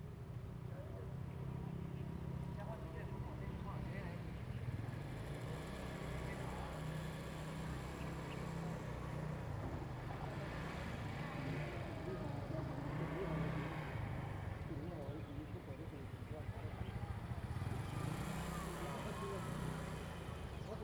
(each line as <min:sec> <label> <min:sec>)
0:14.6 Birds singing 0:20.8